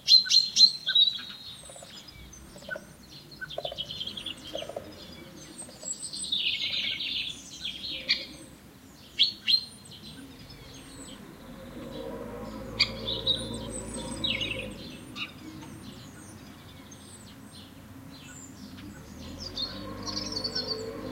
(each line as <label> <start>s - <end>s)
birds 0.0s - 21.1s
voices 2.1s - 8.8s
voices 10.0s - 21.1s